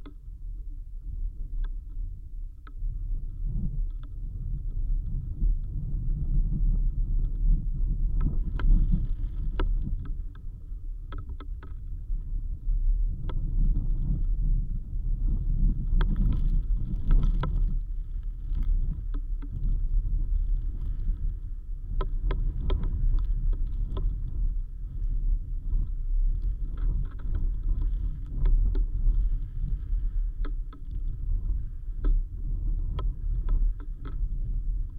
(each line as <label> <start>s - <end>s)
root buried in a dune's sand 0.0s - 34.9s